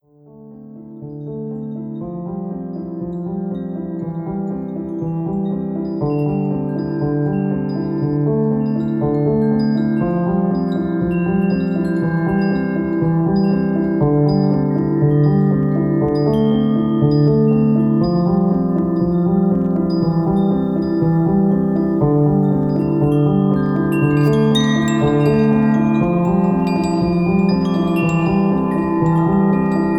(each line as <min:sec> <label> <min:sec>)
0:00.0 Piano 0:29.9
0:01.4 Chimes 0:29.9